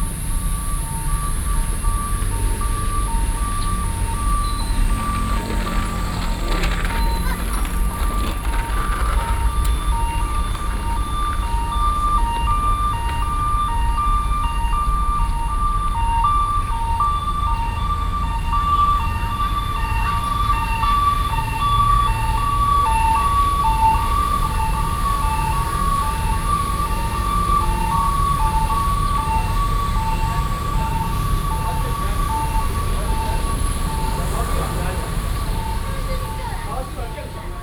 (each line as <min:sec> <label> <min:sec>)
0:00.0 Ambulance traveling through 0:37.6
0:00.0 Traffic noise 0:37.6
0:04.8 child is skateboarding 0:11.6